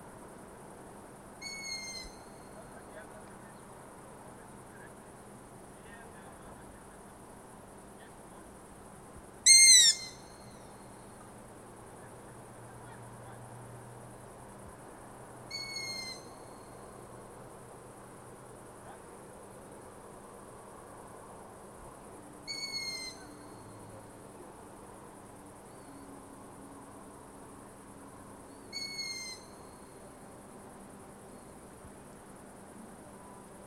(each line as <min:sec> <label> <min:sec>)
0:01.4 Long-eared Owl 0:02.9
0:09.4 Long-eared Owl 0:10.7
0:15.5 Long-eared Owl 0:16.7
0:22.4 Long-eared Owl 0:23.7
0:28.7 Long-eared Owl 0:29.8